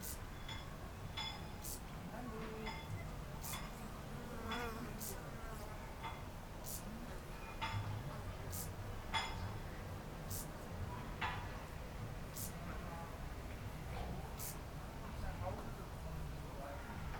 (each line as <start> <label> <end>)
0.0 neighbours at work 17.1